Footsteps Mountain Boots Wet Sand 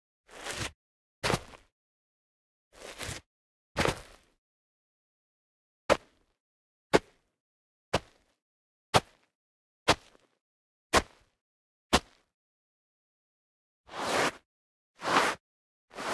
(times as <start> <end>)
9.9 10.3, 15.0 15.4